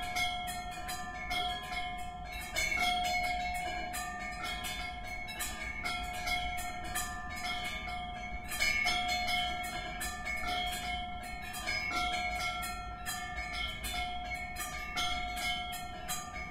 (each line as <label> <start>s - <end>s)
Nautical Wind Chimes 0.0s - 16.5s